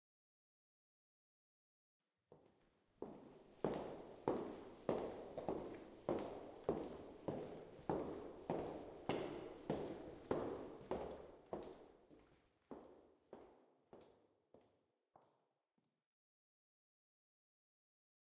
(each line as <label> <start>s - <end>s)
Walking in hallway wearing highheels 2.3s - 15.6s